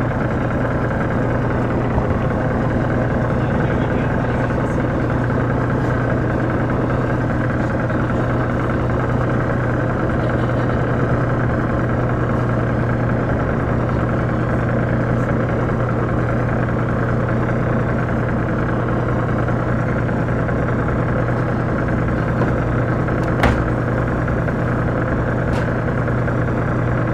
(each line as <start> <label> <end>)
0.0 Men working on a boat 27.1